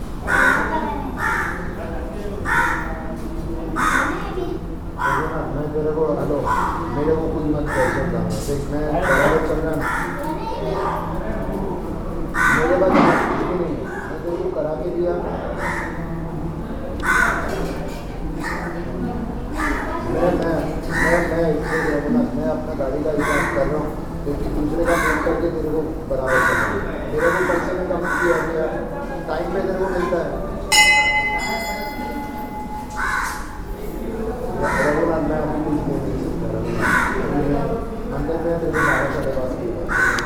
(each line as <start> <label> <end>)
0.2 crow 1.7
2.4 crow 3.0
3.8 crow 4.3
5.0 crow 5.4
7.6 crow 8.1
9.0 crow 10.2
12.4 crow 13.4
15.6 crow 16.0
17.0 crow 17.7
19.6 crow 20.0
20.9 crow 22.1
23.1 crow 23.8
24.8 crow 25.4
26.2 crow 28.6
32.9 crow 33.6
34.6 crow 35.2
36.7 crow 37.5
38.7 crow 39.3
39.9 crow 40.2